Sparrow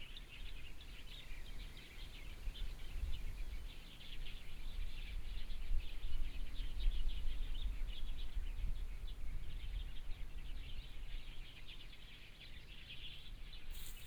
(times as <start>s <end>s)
13.7s 14.0s